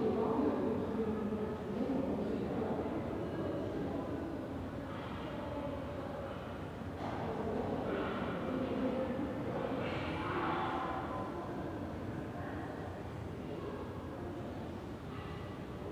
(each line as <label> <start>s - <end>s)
people talking 0.0s - 6.4s
group of children in a room nearby 0.0s - 15.9s